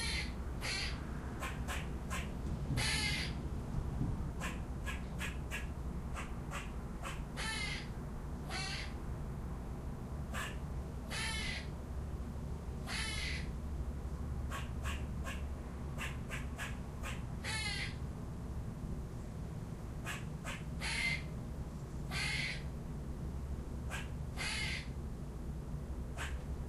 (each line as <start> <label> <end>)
0.0 squirrelbark 3.4
4.4 squirrelbark 7.9
10.3 squirrelbark 10.6
14.5 squirrelbark 18.0
20.0 squirrelbark 21.3
22.1 squirrelbark 22.6
23.9 squirrelbark 24.9
26.1 squirrelbark 26.4